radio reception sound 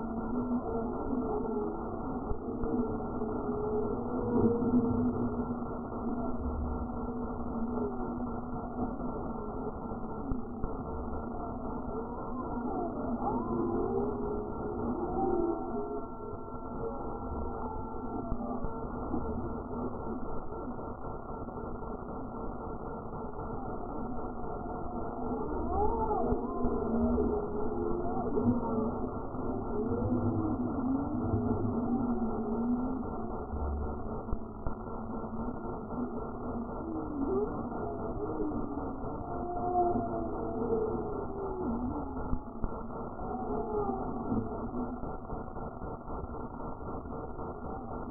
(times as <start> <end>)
15.6 48.1